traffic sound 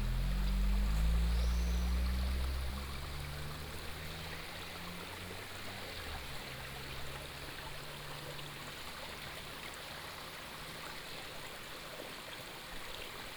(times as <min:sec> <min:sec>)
0:00.0 0:07.2